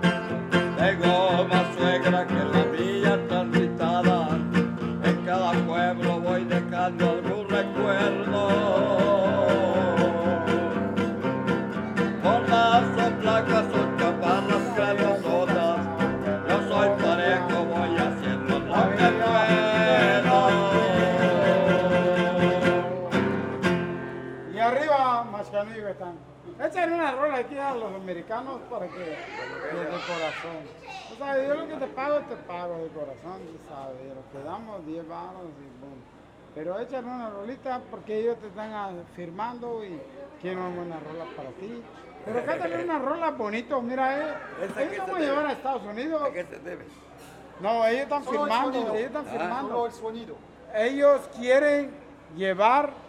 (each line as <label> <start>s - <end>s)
musicien 0.0s - 24.5s